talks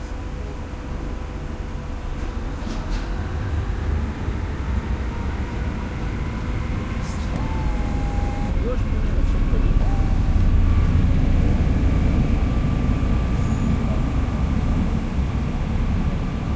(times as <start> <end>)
7.3 10.5